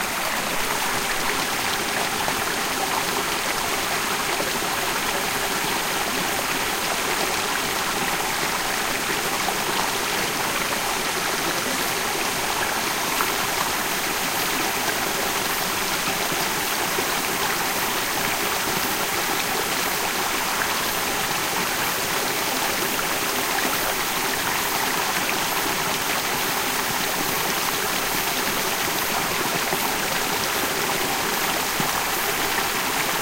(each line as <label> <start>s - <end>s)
mountain stream 0.0s - 33.2s